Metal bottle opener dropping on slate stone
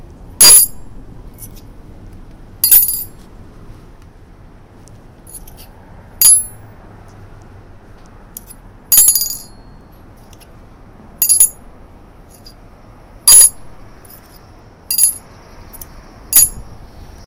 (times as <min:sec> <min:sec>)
0:00.4 0:00.8, 0:02.6 0:03.3, 0:06.2 0:06.6, 0:08.4 0:09.7, 0:11.2 0:11.6, 0:13.3 0:16.7